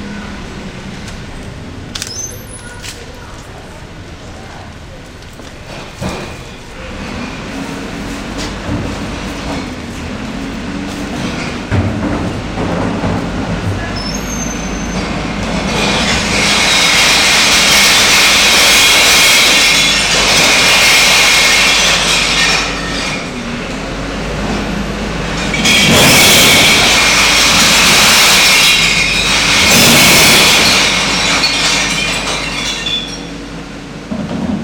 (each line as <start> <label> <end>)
2.0 Garbage truck shattering glass 3.1
11.2 Garbage truck shattering glass 23.4
25.2 Garbage truck shattering glass 33.5